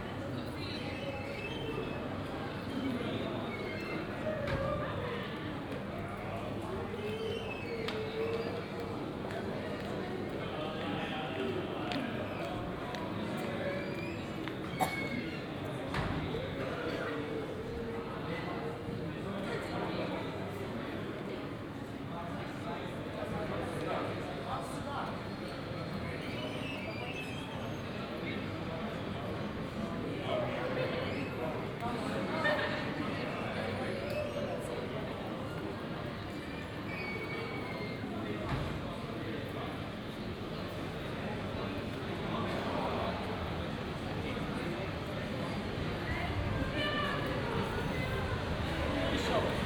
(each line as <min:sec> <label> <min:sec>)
0:00.0 people gathering 0:49.6